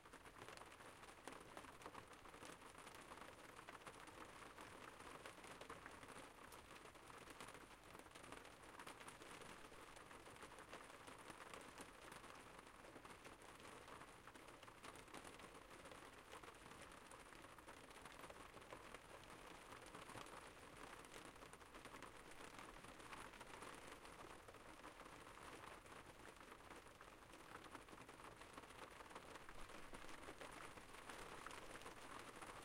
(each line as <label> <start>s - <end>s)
rain 0.0s - 32.6s